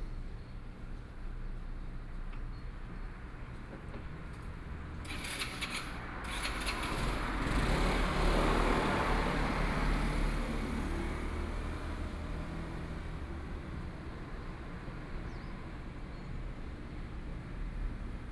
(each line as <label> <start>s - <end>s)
Traffic Sound 3.2s - 18.3s